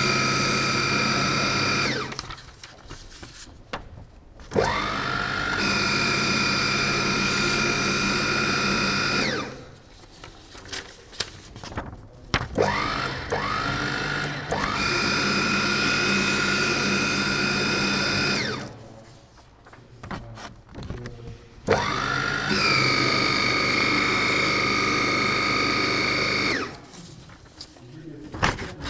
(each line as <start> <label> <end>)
0.0 shredder 2.5
4.5 shredder 9.8
12.6 shredder 18.8
21.7 shredder 27.0